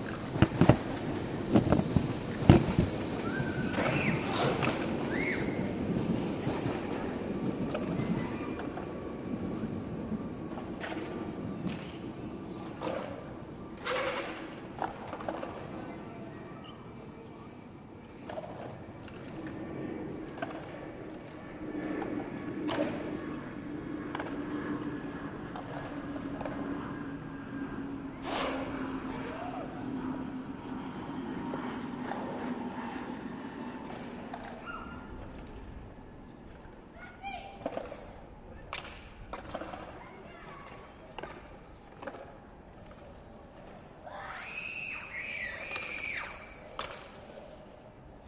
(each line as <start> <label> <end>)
0.0 Crowded Skatepark 48.2